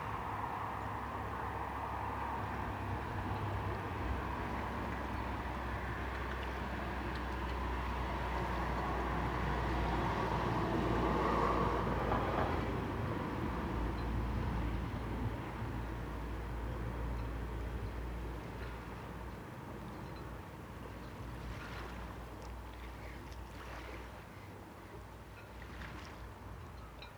21.0s water lapping 26.6s

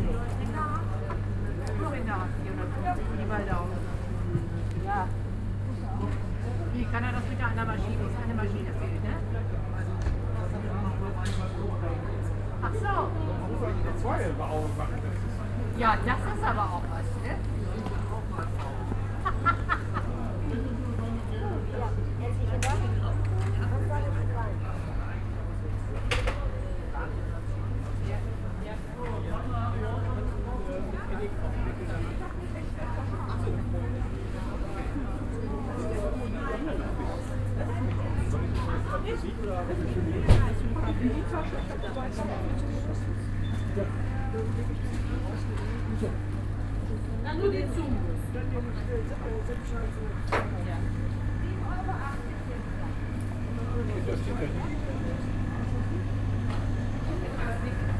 0.0s walking along stalls 57.9s
49.6s shoppers 57.9s

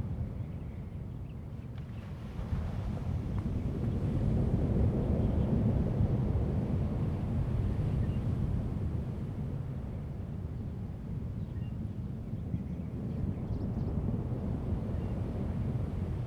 1.7s waves 9.2s

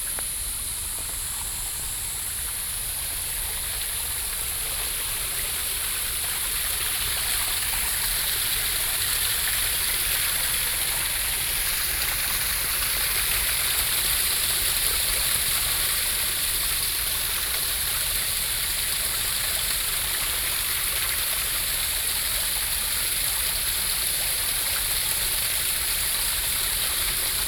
0.0s water 27.4s

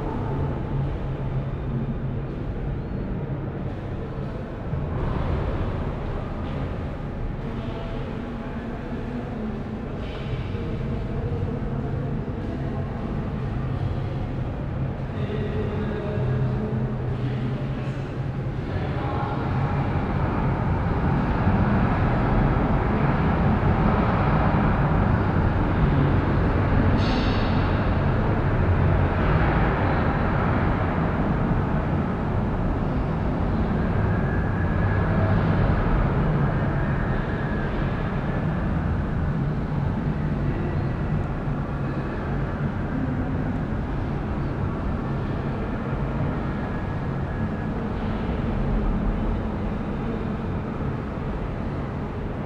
3.7s voices 21.5s

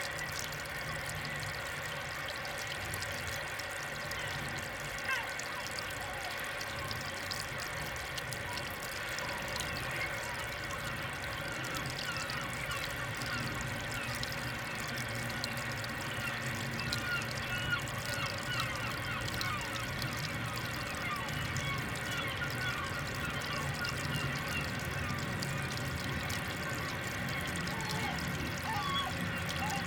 0.0s source of the Douro river 29.8s

